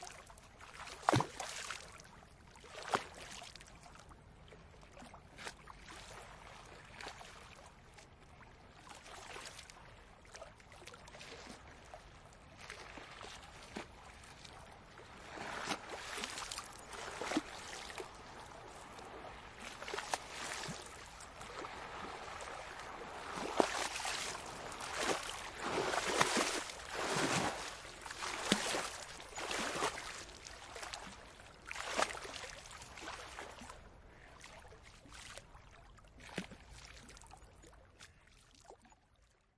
river 0:00.0 - 0:39.5
breaking waves 0:17.0 - 0:29.9

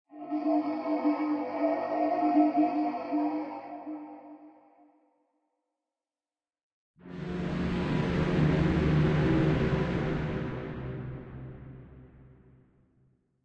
Distant Alien War Machines 0:00.1 - 0:04.8

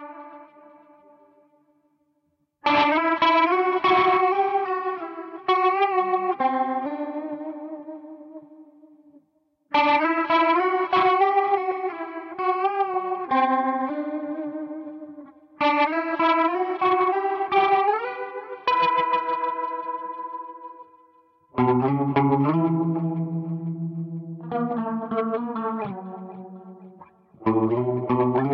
guitar 0:00.0 - 0:28.5

